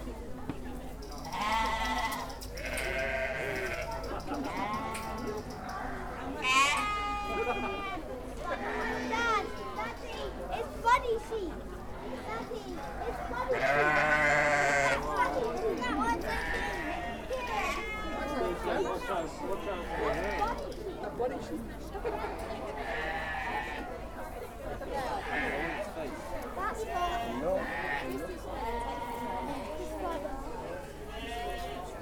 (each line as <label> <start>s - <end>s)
sheep 1.2s - 9.9s
sheep 12.2s - 18.6s
sheep 19.2s - 20.8s
sheep 22.1s - 23.9s